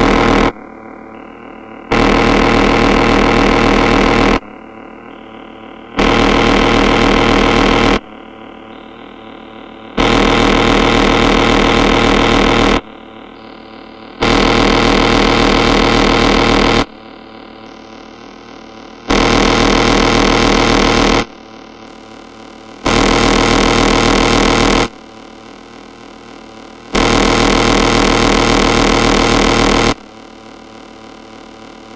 Synthesizer 0.0 - 25.0

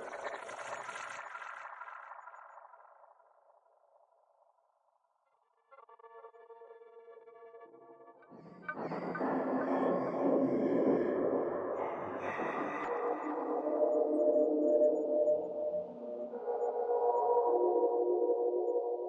drone 8.7 - 19.0

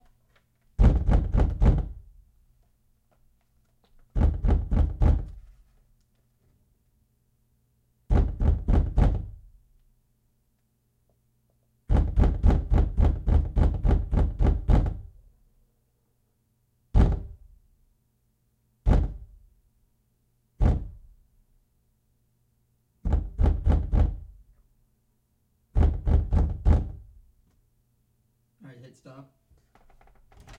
door pounding 0.8 - 2.1
door pounding 4.1 - 5.4
door pounding 8.1 - 9.4
door pounding 11.9 - 15.2
door pounding 16.9 - 17.4
door pounding 18.8 - 19.4
door pounding 20.6 - 21.1
door pounding 23.0 - 24.4
door pounding 25.7 - 27.1

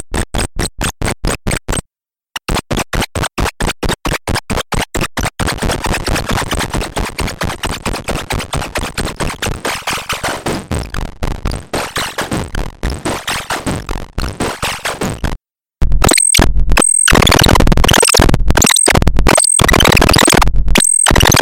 synth 16.0 - 21.4

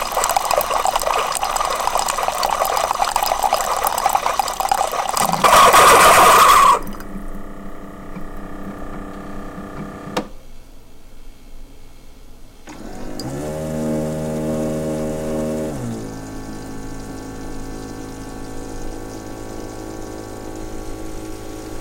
Pour 0.0 - 7.3
process of a Keurig 0.0 - 10.3
process of a Keurig 12.6 - 21.8
Pour 12.7 - 21.8

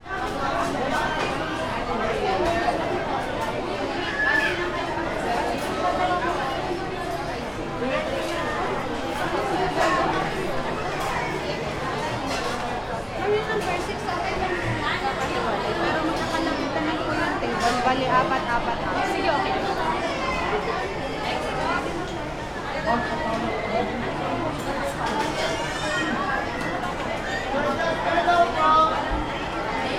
children 0.1 - 17.9
children 18.6 - 29.9

